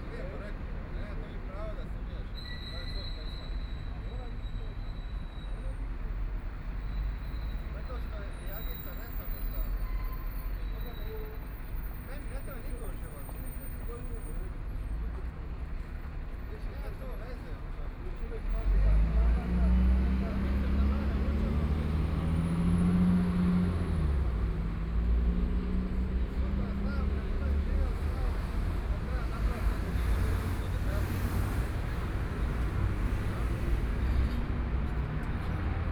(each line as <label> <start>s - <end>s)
Traffic Sound 0.0s - 35.9s